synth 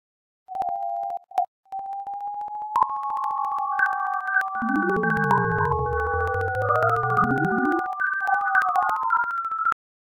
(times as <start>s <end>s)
1.9s 9.8s